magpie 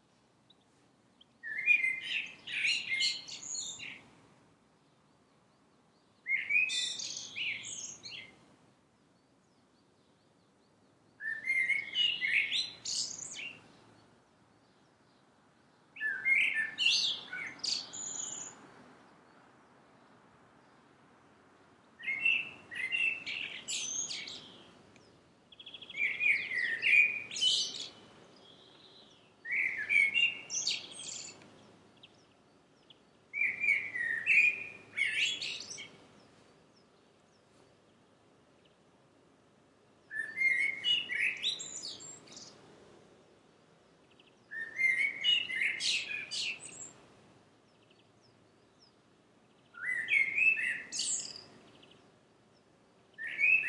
1.4s 4.0s, 11.2s 13.6s, 22.0s 24.7s, 25.6s 28.0s, 29.4s 32.2s, 33.3s 36.0s, 40.1s 42.5s, 44.5s 47.0s, 49.8s 52.0s, 53.2s 53.6s

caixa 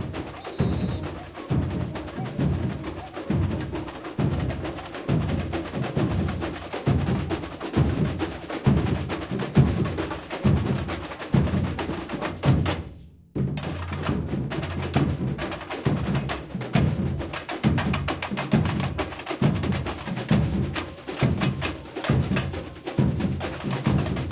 0.0s 6.8s

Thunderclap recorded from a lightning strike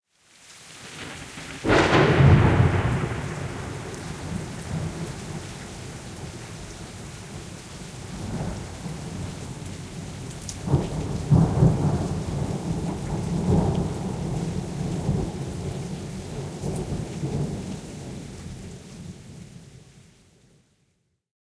1.0s 5.5s, 10.6s 17.6s

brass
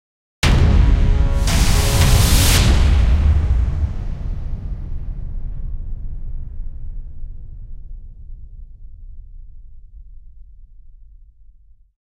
0.4s 4.6s

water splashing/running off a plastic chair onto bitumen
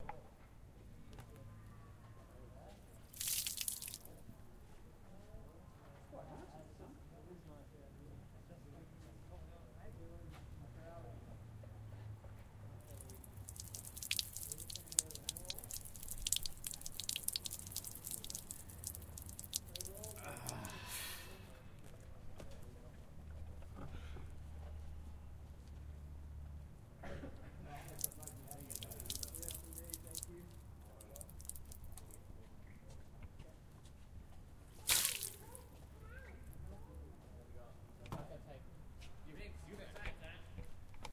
3.0s 4.2s, 12.8s 21.4s, 27.7s 32.2s, 34.7s 35.8s

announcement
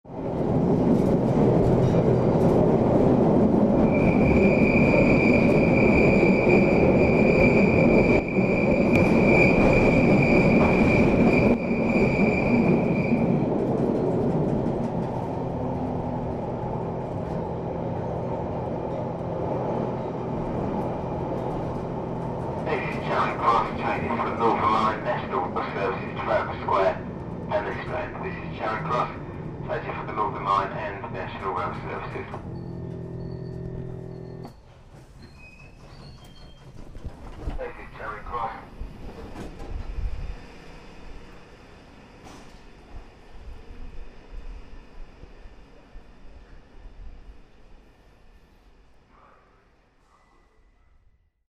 22.6s 34.4s, 37.6s 38.7s

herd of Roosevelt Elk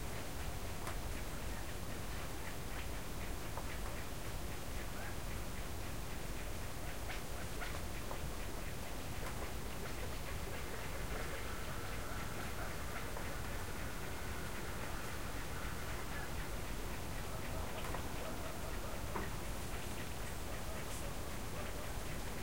10.0s 22.4s

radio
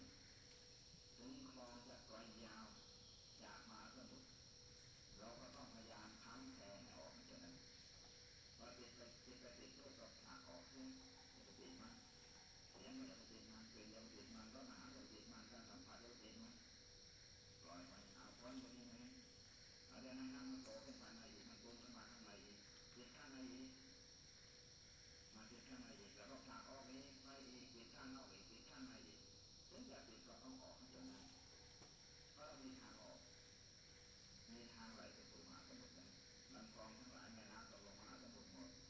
1.2s 2.8s, 3.4s 4.3s, 5.2s 7.6s, 8.6s 12.1s, 12.8s 16.6s, 17.6s 19.2s, 19.9s 23.9s, 25.4s 31.4s, 32.4s 33.2s, 34.5s 38.8s

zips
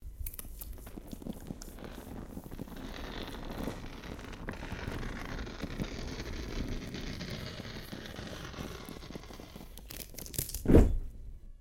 1.6s 9.9s

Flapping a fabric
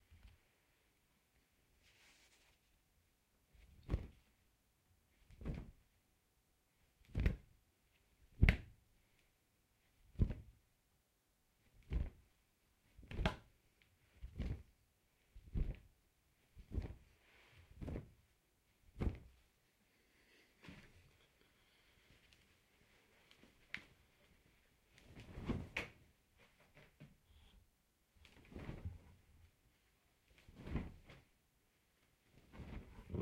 3.6s 4.3s, 5.3s 5.8s, 7.1s 7.5s, 10.1s 10.6s, 11.8s 12.3s, 13.0s 13.5s, 14.1s 14.7s, 15.4s 15.9s, 16.6s 17.1s, 17.7s 18.2s, 18.9s 19.4s, 25.0s 27.0s, 28.2s 29.5s, 30.2s 31.4s, 32.2s 33.2s

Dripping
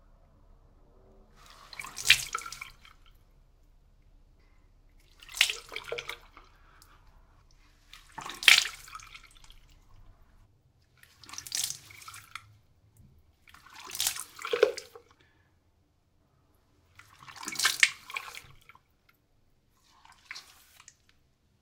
1.3s 15.3s, 16.8s 19.1s

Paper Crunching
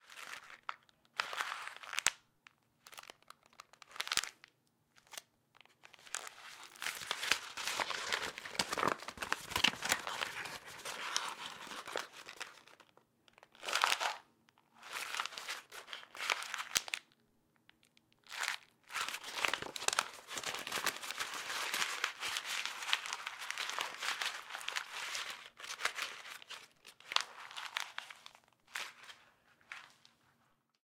5.9s 12.8s, 18.4s 30.0s

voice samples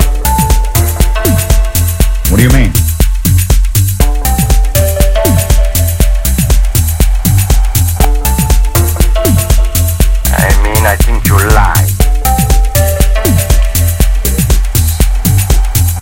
2.3s 2.8s, 10.3s 12.0s

